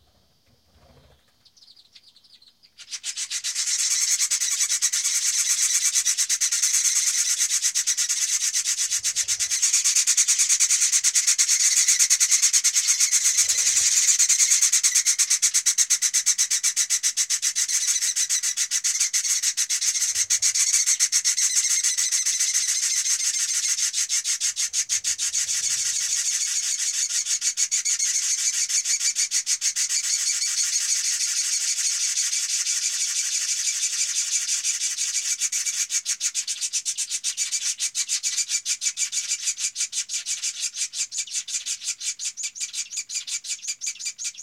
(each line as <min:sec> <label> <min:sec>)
0:00.8 Chimney swifts being fed by adult 0:15.7